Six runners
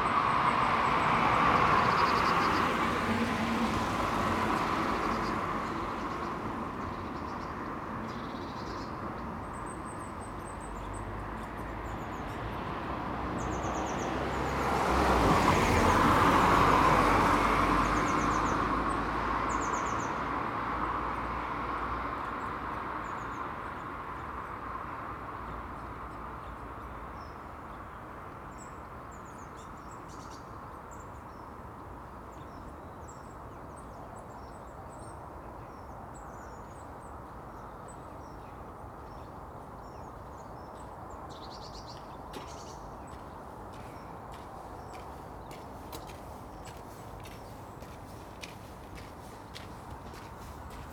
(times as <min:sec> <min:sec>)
0:42.4 0:50.9